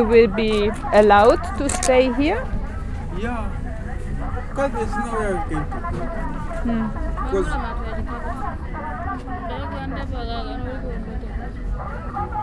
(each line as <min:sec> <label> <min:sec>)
0:00.0 chatting 0:08.7